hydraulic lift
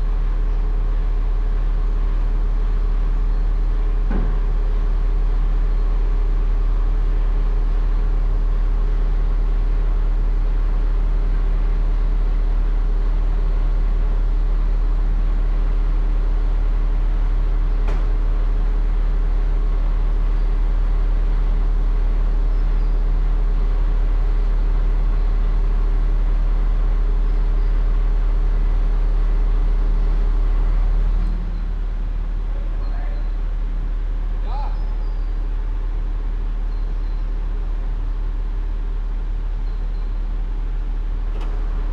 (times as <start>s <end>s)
41.2s 41.9s